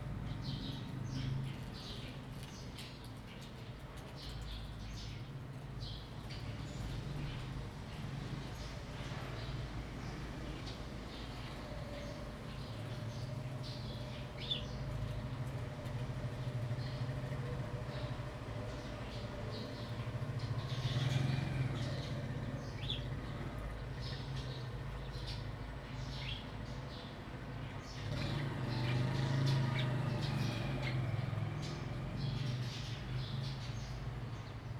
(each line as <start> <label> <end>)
0.0 Wind 34.7
0.3 Birds singing 34.7